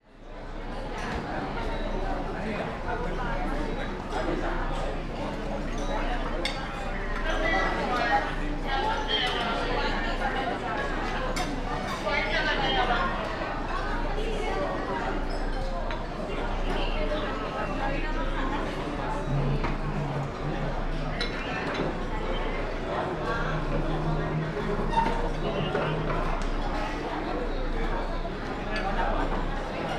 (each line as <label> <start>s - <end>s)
customers eating breakfast while chatting 0.1s - 29.9s